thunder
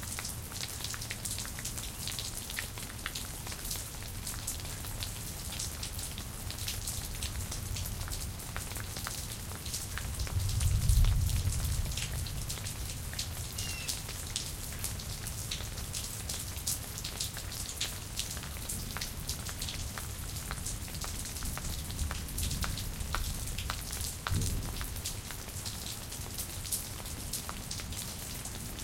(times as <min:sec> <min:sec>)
0:10.4 0:12.2, 0:24.3 0:24.8